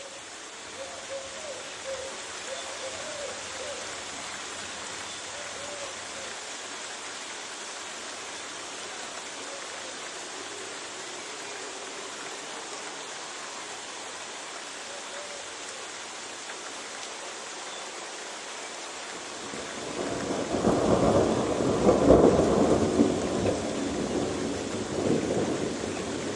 Rain 0.0 - 26.3
birds 0.0 - 6.4
thunder 19.9 - 26.3

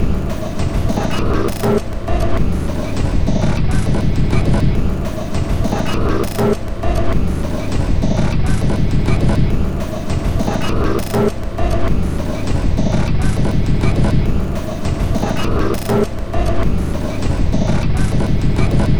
Drum Loop 0.0 - 18.9

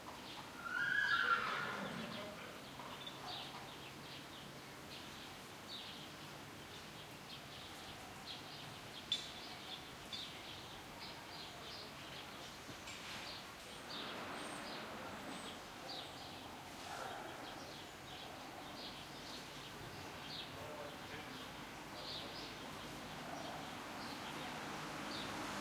birds 0.0 - 25.6
distant voices 7.0 - 25.6
passing cars 13.5 - 17.6
passing cars 21.6 - 25.6
loud big truck pass 23.7 - 25.6

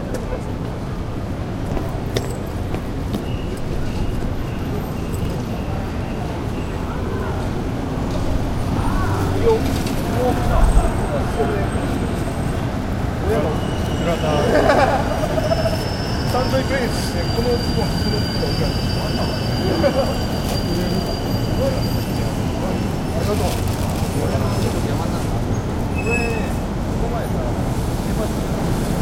Trains come and go 0.0 - 29.0
lots of people come in go 0.0 - 29.0

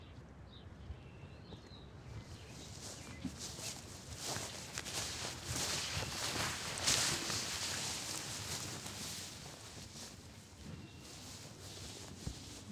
kid walking through the grass 2.2 - 12.7

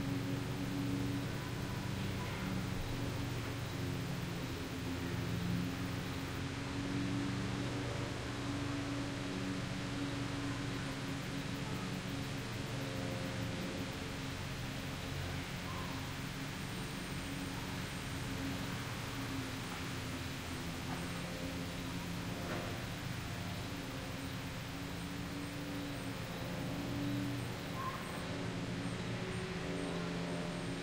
leaves sing through the trees 0.0 - 30.8

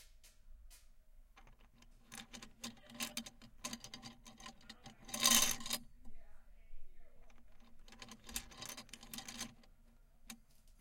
wooden beads fall down metal bars 1.4 - 5.8

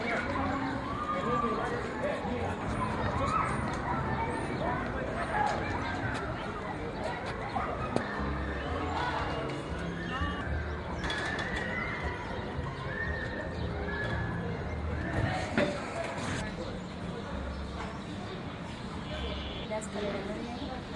Pedestrians 0.0 - 20.9

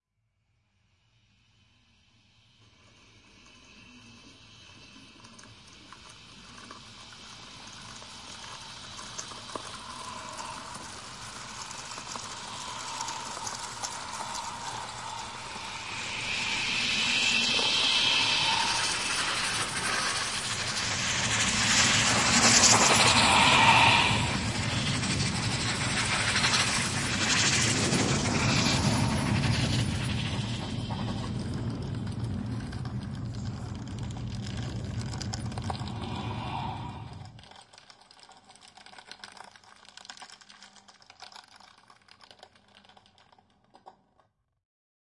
typing 37.4 - 44.0

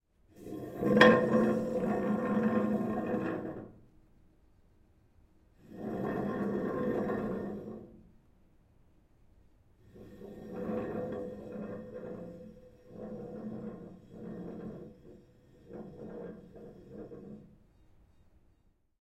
Dragging a chair across the room on a hard floor 0.3 - 3.8
Dragging a chair across the room on a hard floor 5.6 - 8.0
Dragging a chair across the room on a hard floor 9.9 - 17.6

